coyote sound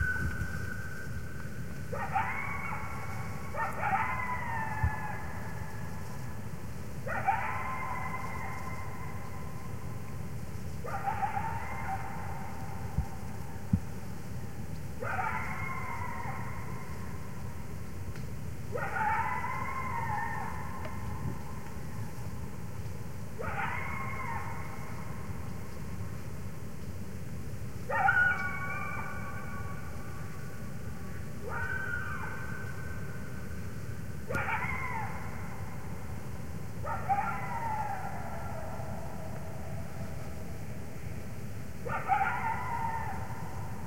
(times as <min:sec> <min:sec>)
0:34.3 0:40.2